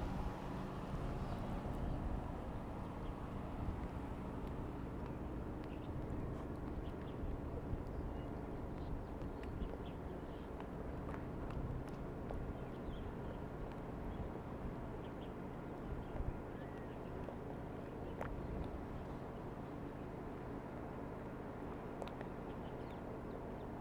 0.0s tide 23.8s
0.3s Birds singing 10.6s
14.9s Birds singing 20.0s

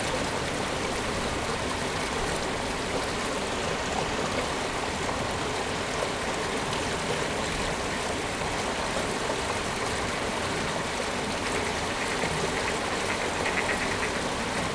11.5s calls of mallard ducks 14.6s

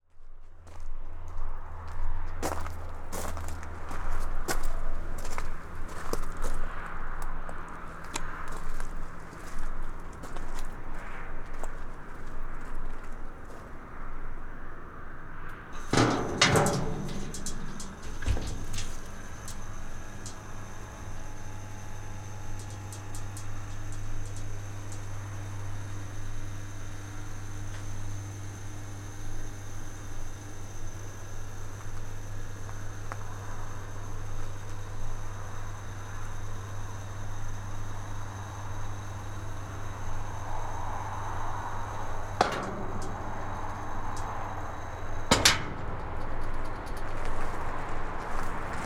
0.2s plane 48.8s
15.2s Electric gate 48.8s

